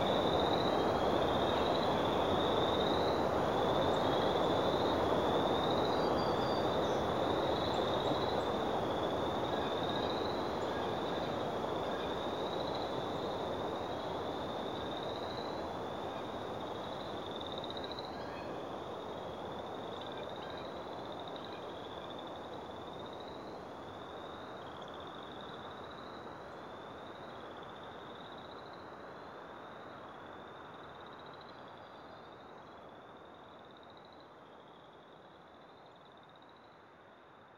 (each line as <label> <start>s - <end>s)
very active frog pond 0.0s - 37.5s